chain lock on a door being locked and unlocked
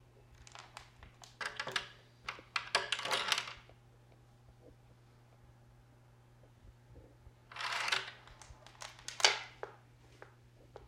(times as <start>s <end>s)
1.3s 3.6s, 7.5s 9.5s